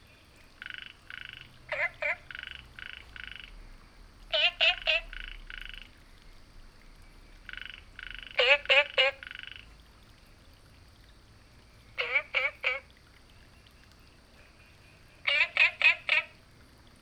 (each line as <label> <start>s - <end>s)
Frog chirping 0.5s - 9.8s
Frog chirping 12.0s - 12.9s
Frog chirping 14.4s - 16.4s